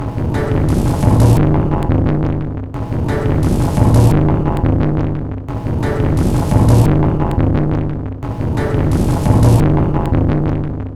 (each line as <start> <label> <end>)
0.0 Drum Loop 10.6